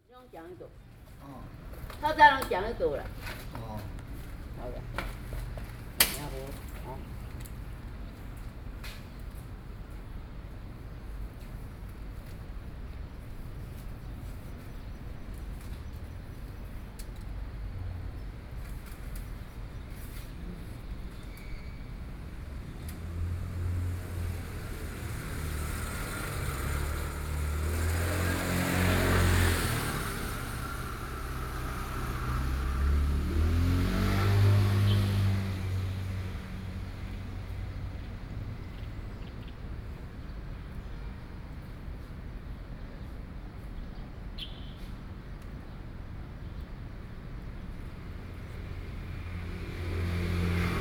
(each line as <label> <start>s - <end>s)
Traffic Sound 0.2s - 50.8s
Bird calls 44.4s - 44.8s